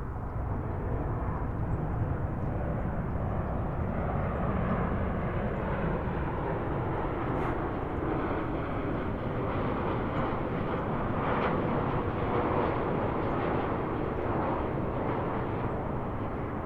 wildlife 0.0 - 16.6
Landing planes 0.0 - 16.6

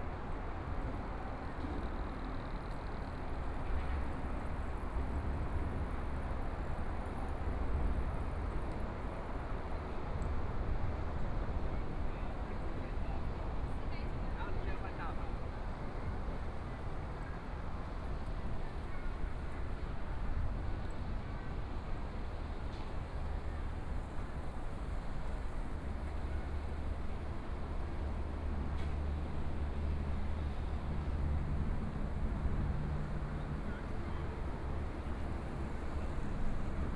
MRT train sounds 0.0 - 36.9
Walking along the river 13.3 - 36.9
Traffic Sound 31.5 - 36.9

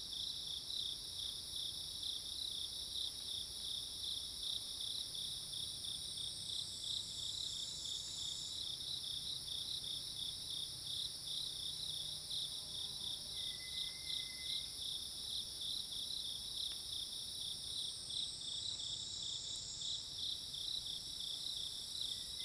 Cicadas cries 13.4 - 14.8

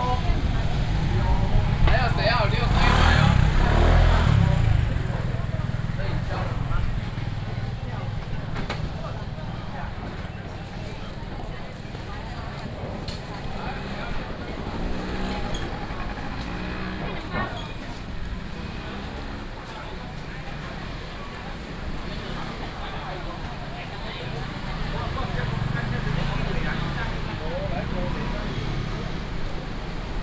traffic sound 0.0 - 30.2
vendors peddling 0.0 - 30.2

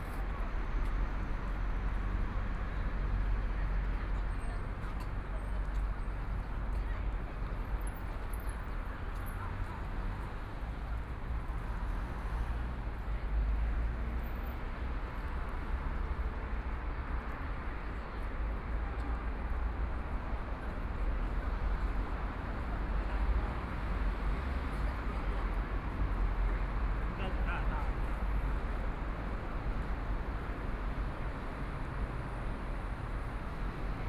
Traffic Sound 0.0 - 34.0

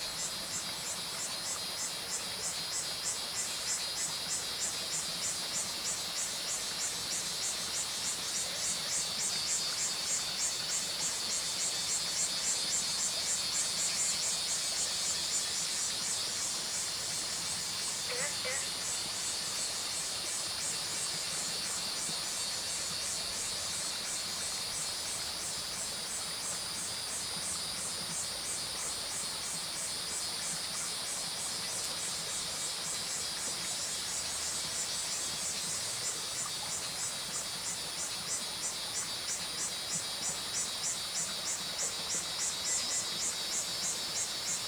Cicadas called 0.0 - 44.6
Stream sound 0.0 - 44.6
Frogs called 8.6 - 24.5

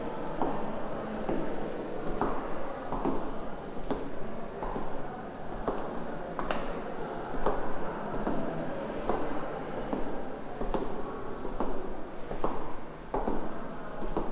with clogs, walking the yellow colored hallway 0.2 - 14.3

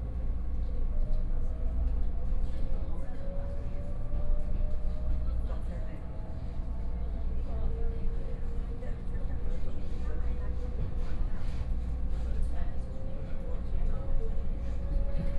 Local Train 0.0 - 15.3

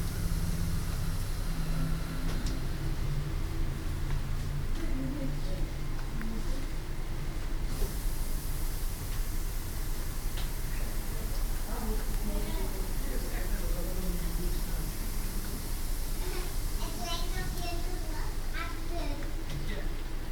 Hisses and drops of the moisturising system 7.7 - 18.8

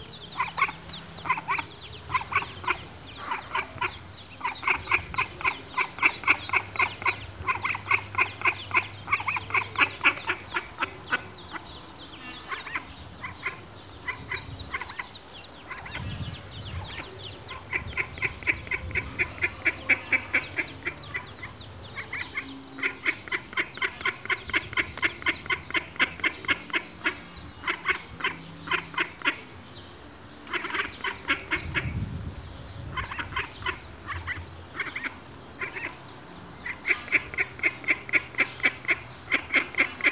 ducklings 0.1 - 29.6
ducklings 30.4 - 40.1

